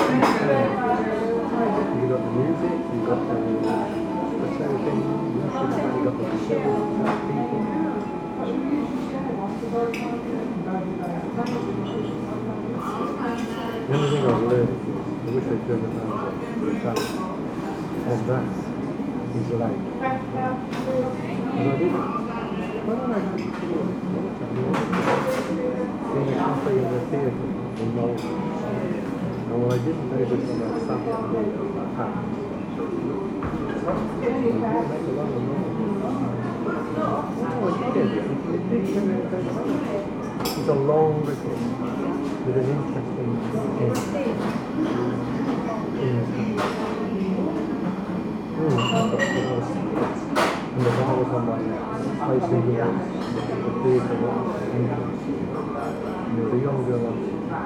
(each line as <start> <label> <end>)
0.0 noisy fans 57.6
0.0 people at tables 57.6